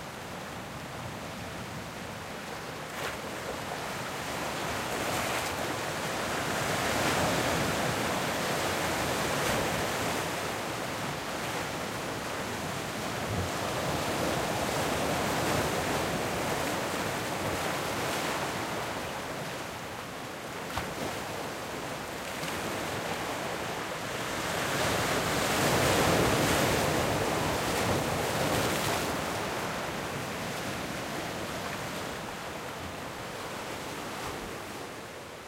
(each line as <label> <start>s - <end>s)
ocean waves breaking on a sandy beach 0.0s - 35.4s
wind 0.0s - 35.4s